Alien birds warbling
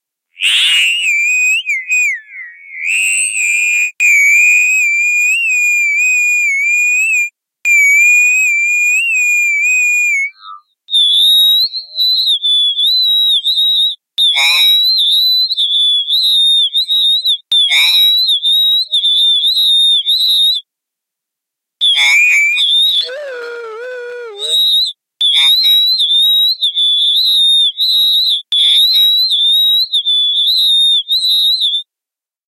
0.4s 3.1s, 21.8s 25.8s

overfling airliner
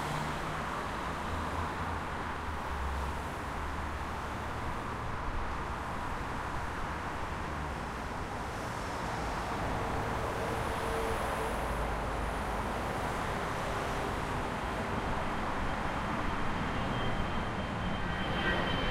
14.1s 18.9s

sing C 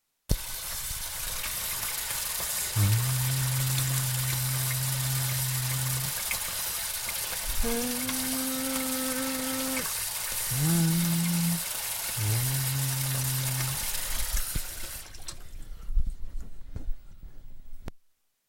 2.8s 6.2s, 7.6s 9.9s, 10.5s 13.8s

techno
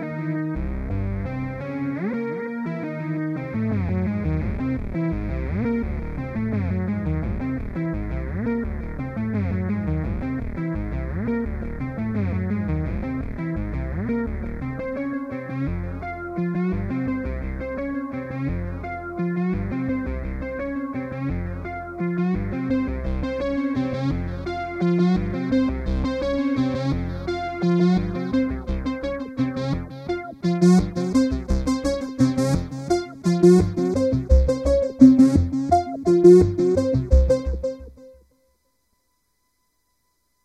23.0s 38.2s

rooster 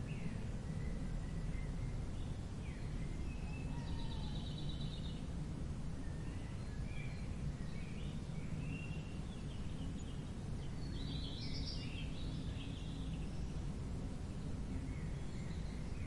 3.6s 4.4s

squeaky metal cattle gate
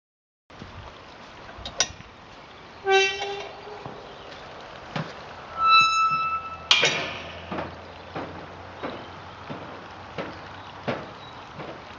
2.8s 4.0s, 5.5s 9.1s

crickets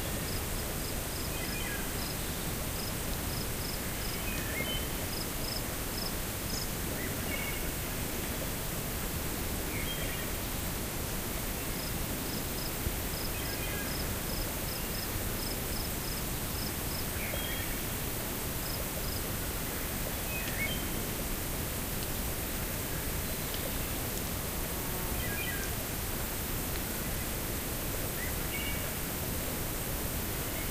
0.1s 6.6s, 11.8s 18.0s, 18.6s 19.3s

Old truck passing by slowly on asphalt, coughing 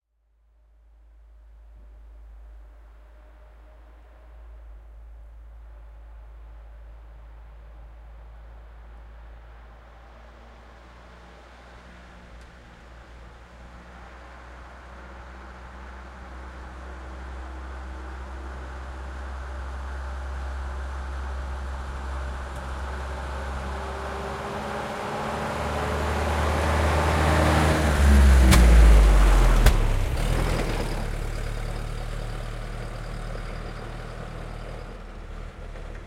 9.8s 36.0s

